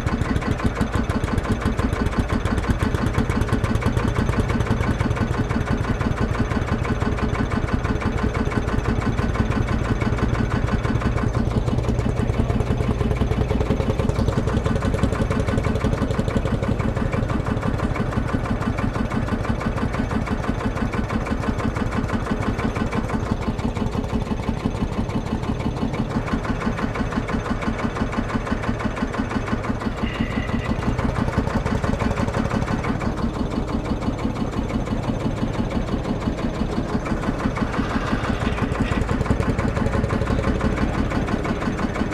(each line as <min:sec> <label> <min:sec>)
0:00.0 one tractor fires up followed by another 0:42.1